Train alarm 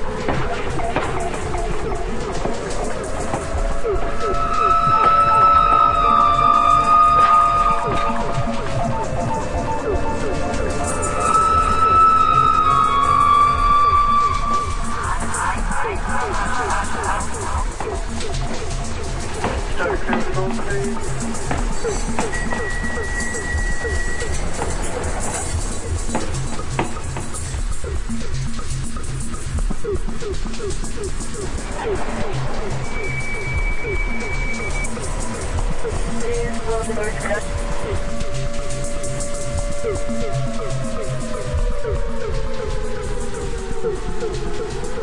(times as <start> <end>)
3.1 17.4, 19.8 27.2, 31.8 45.0